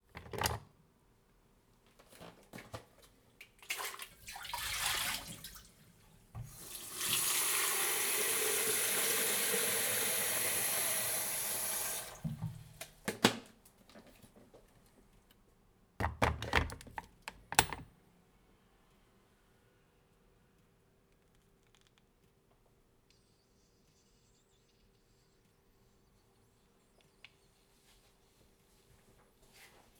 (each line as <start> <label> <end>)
3.6 fill it from the tap 5.8
3.7 fill it from the kettle 5.7
6.4 Boiling an electric kettle 12.6
6.4 fill it from the kettle 12.3
6.4 fill it from the tap 12.4